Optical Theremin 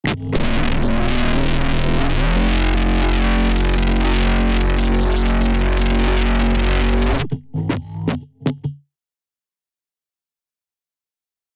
0.0s 8.1s

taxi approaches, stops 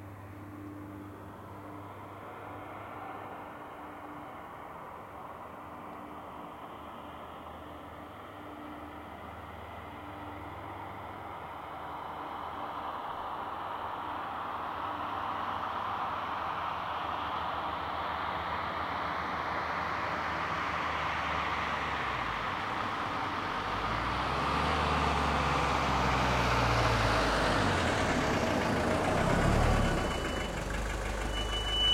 14.8s 31.9s

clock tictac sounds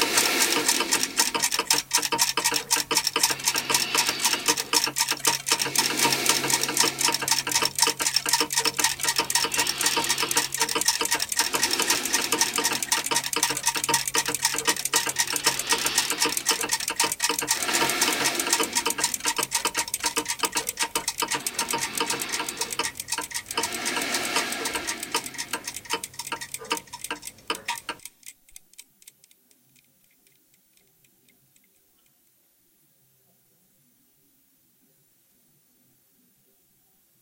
0.0s 29.4s

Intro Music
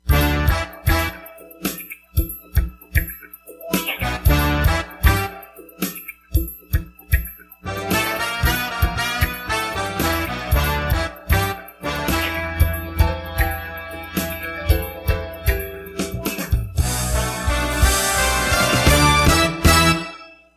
3.6s 5.8s, 7.6s 20.4s

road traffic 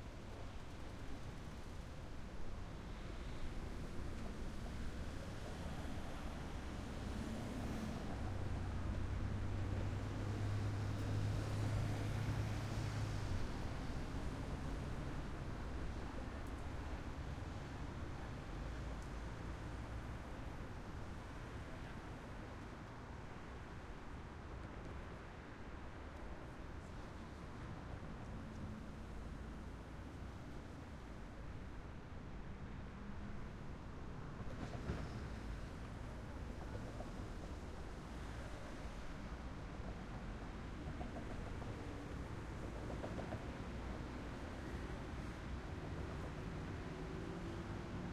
28.4s 48.1s

